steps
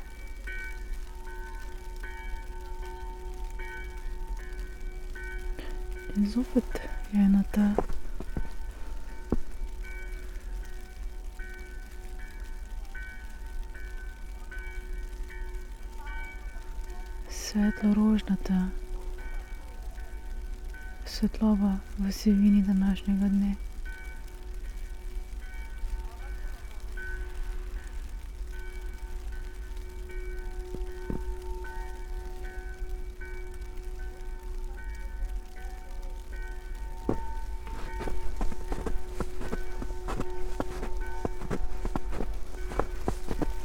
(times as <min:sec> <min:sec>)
0:00.0 0:11.8, 0:30.2 0:31.9, 0:36.2 0:43.6